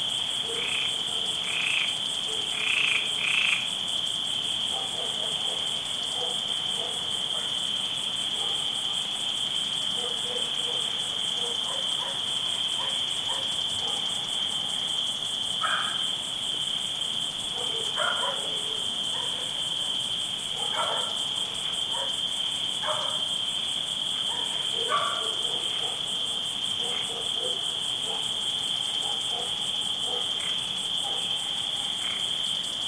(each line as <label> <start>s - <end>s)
frogs croaking 0.0s - 8.4s
crickets chirping 0.0s - 32.8s
distant dog barkings 0.4s - 2.9s
distant dog barkings 4.7s - 7.7s
distant dog barkings 8.3s - 9.2s
frogs croaking 9.8s - 32.8s
distant dog barkings 9.9s - 14.8s
distant dog barkings 15.6s - 16.1s
distant dog barkings 17.5s - 19.9s
distant dog barkings 20.5s - 22.2s
distant dog barkings 22.8s - 23.3s
distant dog barkings 24.2s - 31.6s